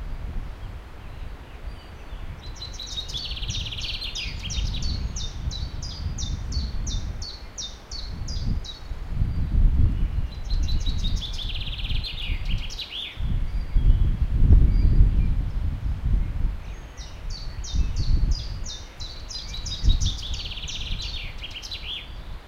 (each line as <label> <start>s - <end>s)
A river flows nearby 0.0s - 4.4s
Birds are singing 0.0s - 22.4s
A river flows nearby 6.7s - 9.8s